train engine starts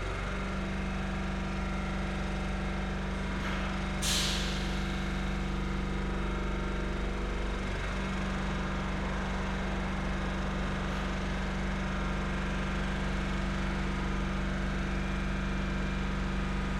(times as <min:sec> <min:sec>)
0:03.4 0:05.4